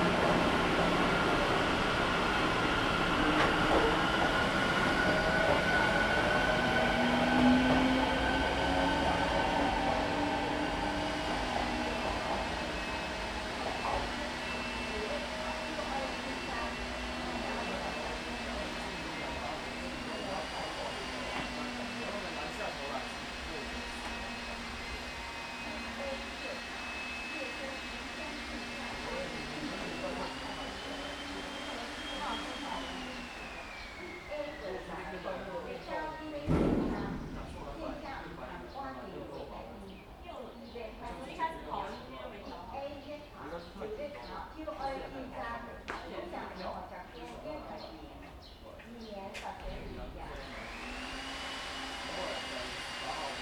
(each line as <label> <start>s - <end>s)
Construction noise 0.0s - 39.5s
Construction noise 49.2s - 53.4s